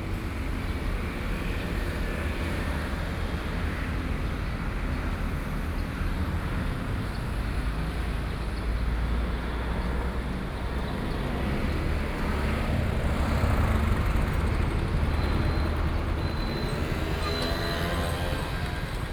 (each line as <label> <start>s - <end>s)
Traffic Sound 7.0s - 19.1s